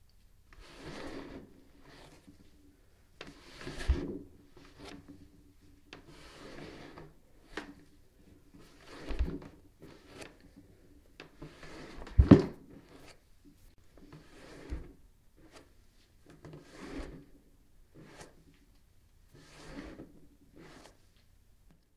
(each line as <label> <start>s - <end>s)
body rubbing against a wooden table 19.3s - 21.1s